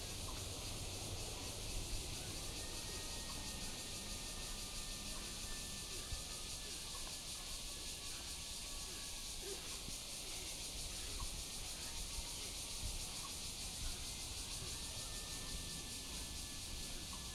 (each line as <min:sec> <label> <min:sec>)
0:00.0 Cicadas cry 0:17.3